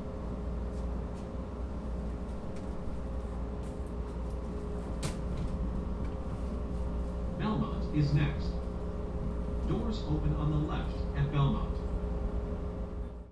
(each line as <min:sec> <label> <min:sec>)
0:00.0 train 0:13.3